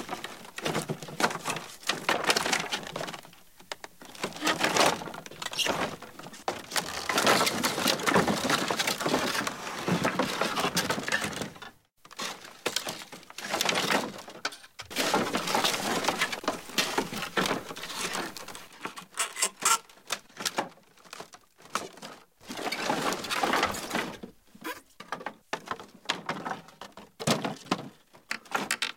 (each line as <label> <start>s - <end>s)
Wood-handling 0.0s - 28.9s